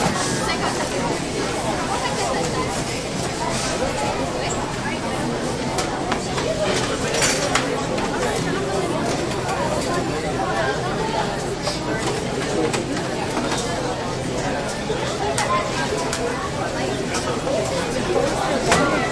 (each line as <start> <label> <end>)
0.0 busy crowd 19.1
18.2 merchandise being banged around 19.1